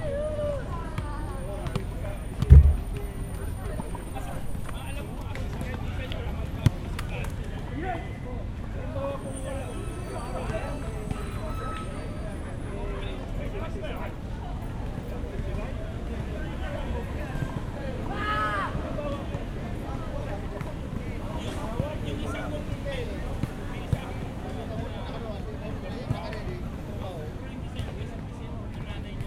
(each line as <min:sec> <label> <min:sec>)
0:00.0 physical and social activity by park goers 0:29.2
0:02.4 bench mid way through gets hit with volley ball 0:03.0